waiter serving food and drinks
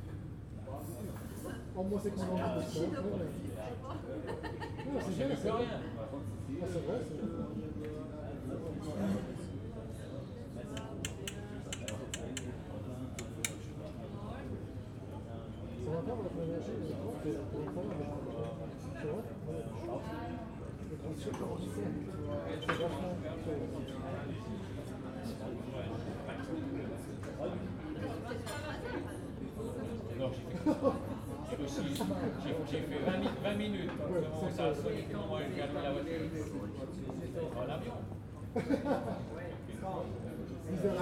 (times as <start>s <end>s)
10.7s 14.1s